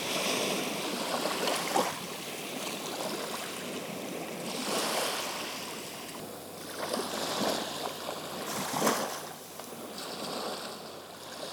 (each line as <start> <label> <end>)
0.0 sea 11.5